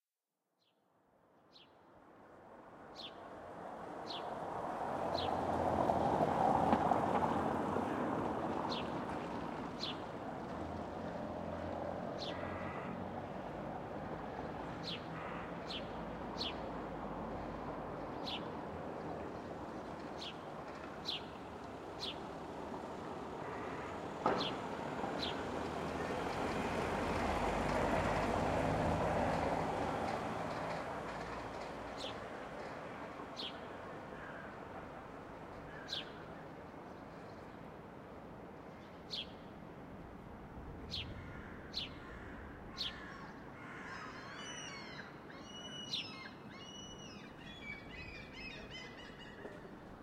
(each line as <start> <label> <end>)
2.0 traffic 50.0
12.2 birds 13.0
23.4 birds 24.6